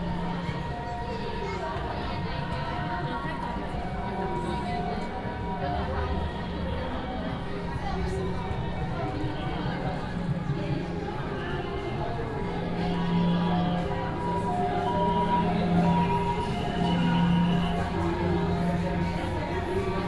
0.0s Walking in the crowd 20.0s

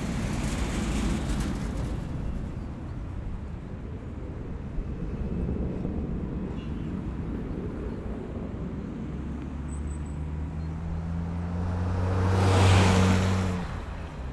0.0s flying plane 9.6s
0.0s traffic 14.3s
0.0s tram 14.3s

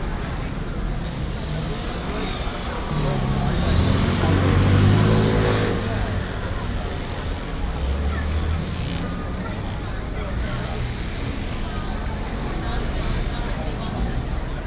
0.0s Traffic Sound 14.6s
0.0s walking in the Street 14.6s

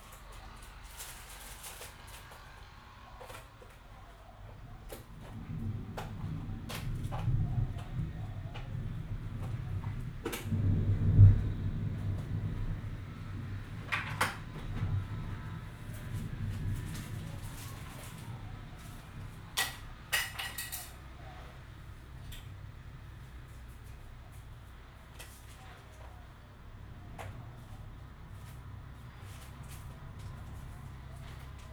5.0s Thunderstorm 23.8s

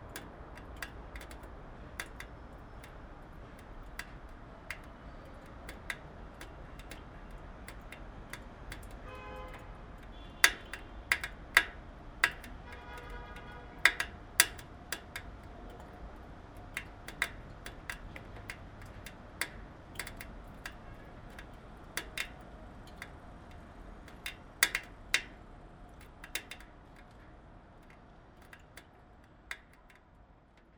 0.0s cars driving on the cobblestones 30.7s
0.0s Water falling into a gutter 30.7s

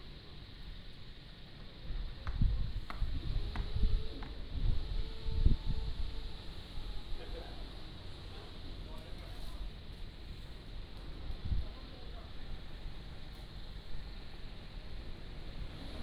0.0s wind 16.0s
1.2s Construction 16.0s

